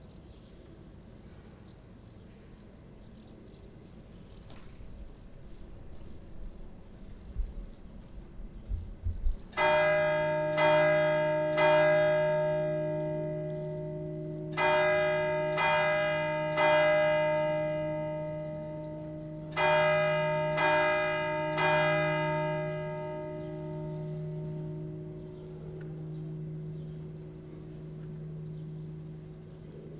church bell 0:04.5 - 0:29.9

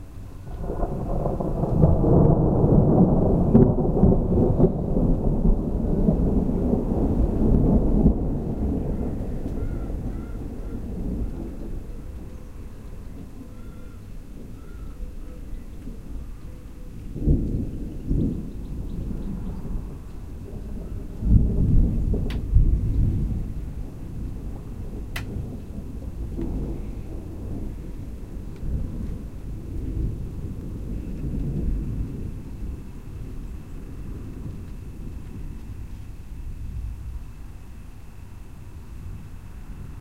thunder rolling around hills 0:00.0 - 0:40.0

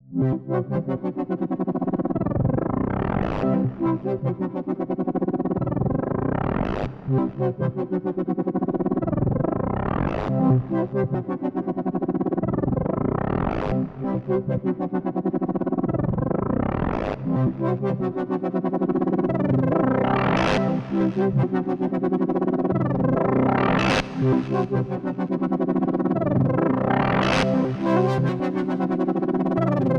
bass 0:00.0 - 0:29.9

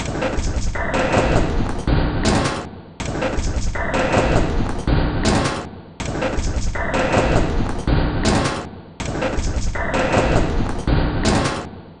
Drum 0:00.0 - 0:11.7

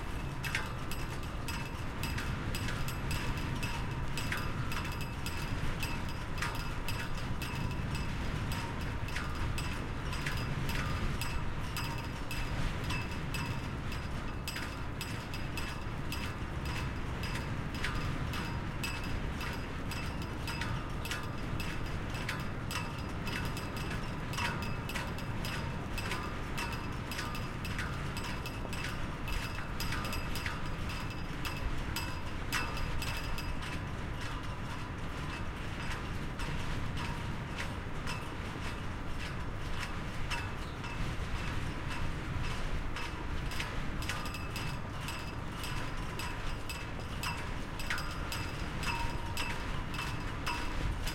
flagpoles in wind 0:00.0 - 0:51.1

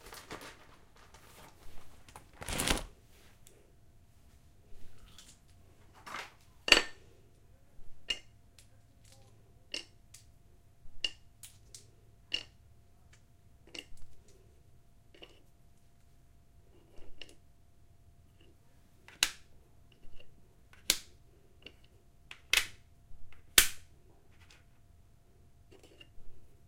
Opening a Scrabble box 0:02.2 - 0:02.9

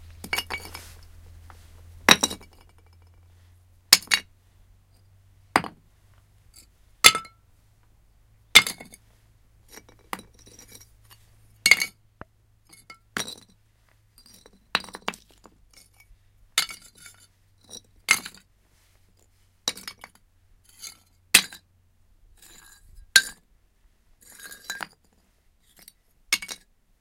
Falling pottery sharts 0:02.0 - 0:03.1
Falling pottery sharts 0:03.9 - 0:04.3

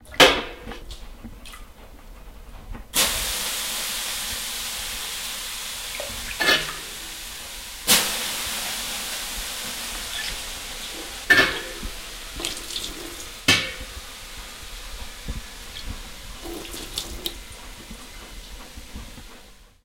Hot steam hissing loudly 0:02.9 - 0:19.8
taking water from a metal bucket 0:10.0 - 0:14.0
taking water from a metal bucket 0:15.5 - 0:18.4

